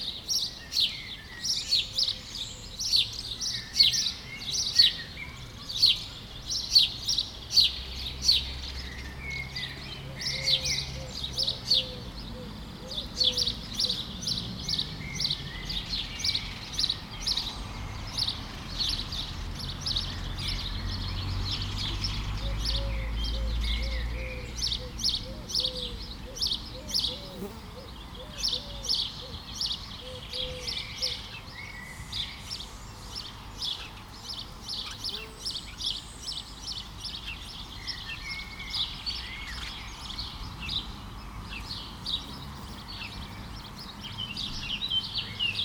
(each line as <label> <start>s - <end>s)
sparrows 0.0s - 45.6s
Eurasian collared doves 9.4s - 17.5s
Eurasian collared doves 21.8s - 40.8s